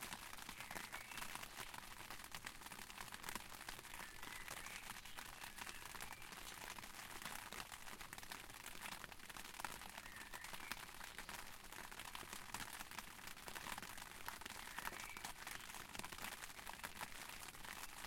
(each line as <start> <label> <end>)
0.0 Rain on an umbrella 18.0
0.1 birds 2.0
3.7 birds 6.9
9.7 birds 11.9
13.8 birds 18.0